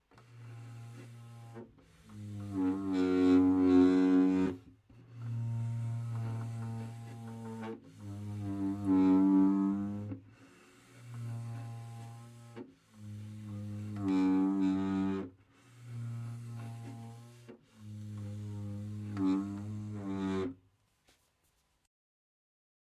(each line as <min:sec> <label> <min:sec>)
0:11.0 Chair creaking on the floor 0:20.6